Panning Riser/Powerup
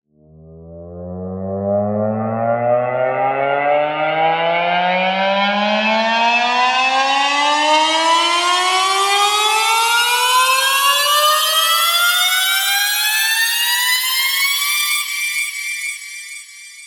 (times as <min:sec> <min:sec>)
0:00.4 0:06.6